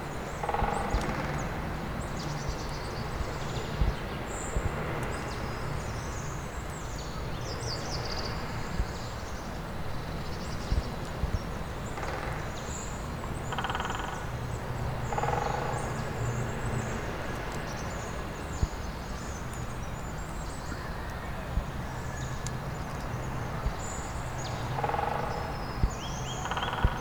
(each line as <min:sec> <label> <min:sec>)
0:26.2 Duelling Woodpeckers 0:27.0